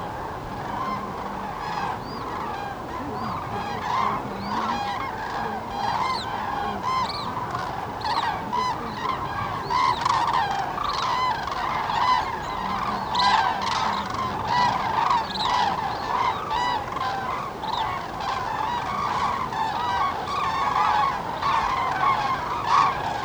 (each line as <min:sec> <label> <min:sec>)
0:00.4 human birdwatchers turn up to see them, chatting to each other 0:23.2